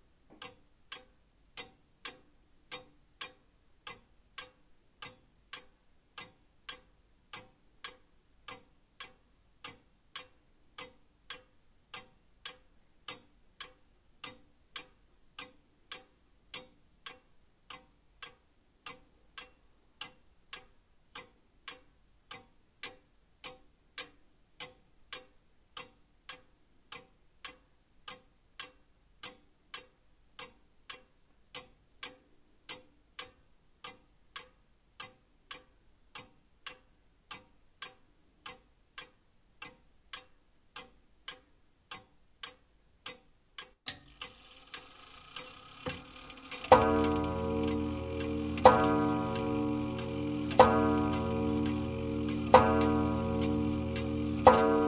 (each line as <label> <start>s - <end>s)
slightly irregular tick-tock sound 0.0s - 54.8s
winding-up sound 43.9s - 54.8s
eight o'clock chime 45.6s - 54.8s